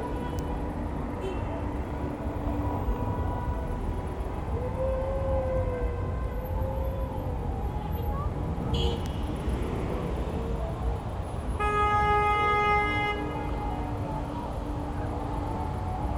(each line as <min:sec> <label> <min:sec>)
0:00.0 traffic 0:16.1
0:08.5 motorcade passes with horns blaring 0:09.6
0:11.4 motorcade passes with horns blaring 0:14.6